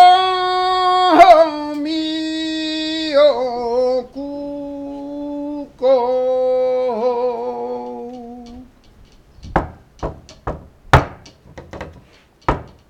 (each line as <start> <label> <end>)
0.0 A capella Flamenco 8.8